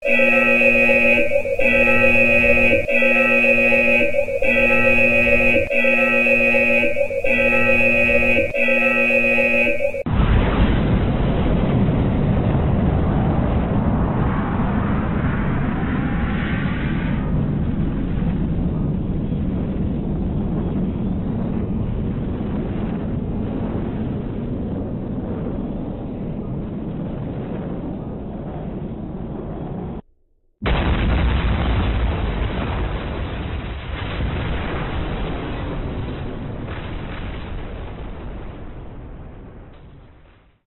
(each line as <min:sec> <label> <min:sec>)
0:00.0 Nuculear Bomb sequence 0:10.2